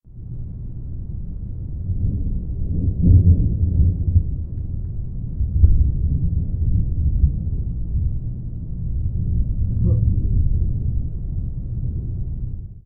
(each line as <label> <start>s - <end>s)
Distant thunder 0.3s - 12.8s